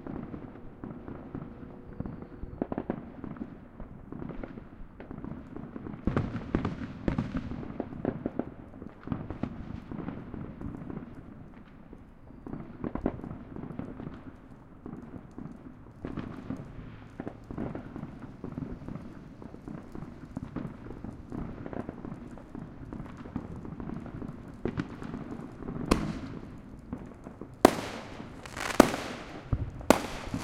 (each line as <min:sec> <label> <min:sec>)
0:00.0 bonfire crackling 0:30.4
0:00.0 firecrackers 0:30.4
0:27.6 explosions 0:30.4
0:27.6 people having a party in the distance 0:30.4
0:27.6 rocket 0:30.4